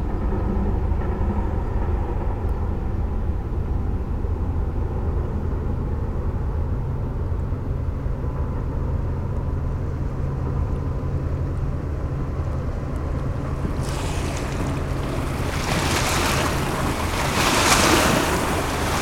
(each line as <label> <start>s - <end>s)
Two boats passing by on the Seine river 0.0s - 19.0s
a barge coming from Lyon 8.4s - 19.0s